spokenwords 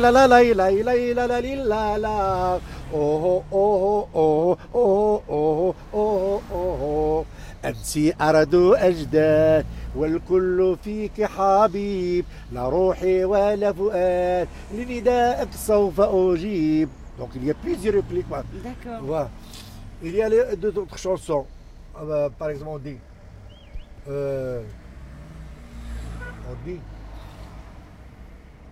17.2s 19.3s, 20.0s 23.0s, 24.1s 24.7s, 26.4s 26.9s

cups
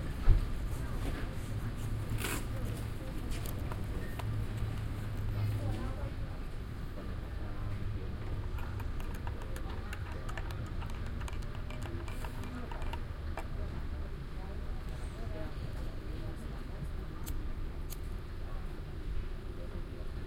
8.4s 13.5s

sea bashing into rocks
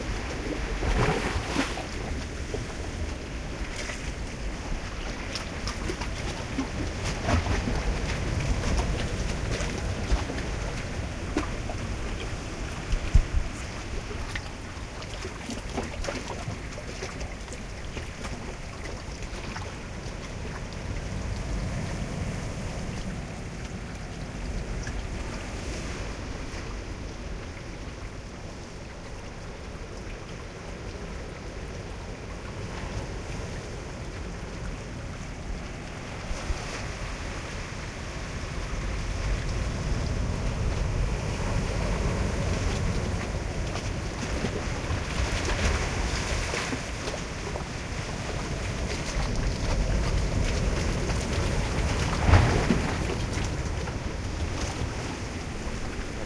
48.5s 55.3s

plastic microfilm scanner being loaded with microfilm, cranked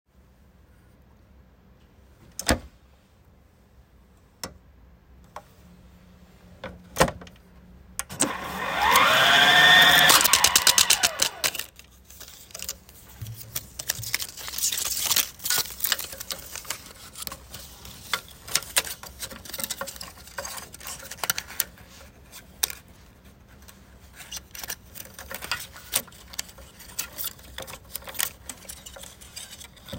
8.1s 12.8s

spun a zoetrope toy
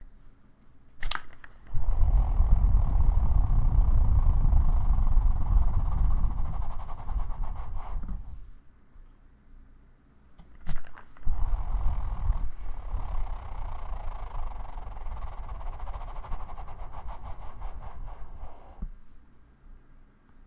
1.0s 8.5s, 10.5s 19.0s

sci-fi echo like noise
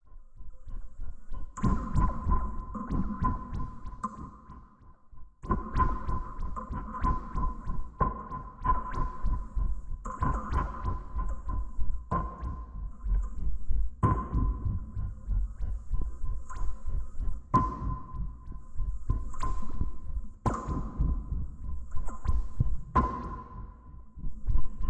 5.4s 24.8s

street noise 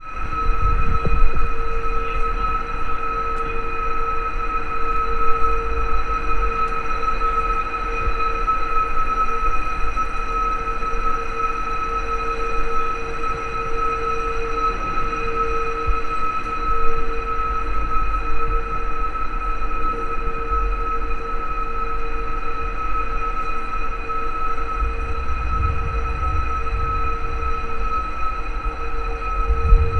11.9s 29.9s

